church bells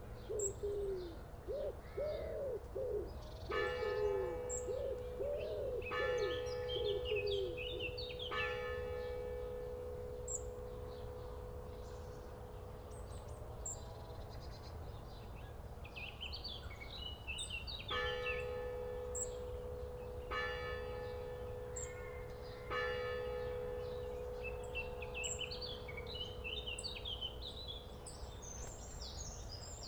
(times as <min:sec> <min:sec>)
0:03.5 0:13.8, 0:17.8 0:29.2